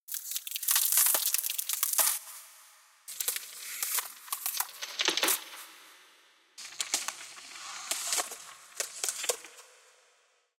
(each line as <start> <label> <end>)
0.1 Ice Cracking 2.4